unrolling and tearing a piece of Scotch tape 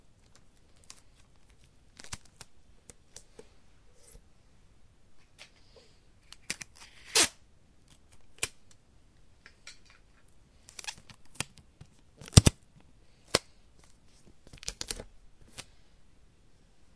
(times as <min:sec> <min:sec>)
0:00.3 0:02.5, 0:06.2 0:08.6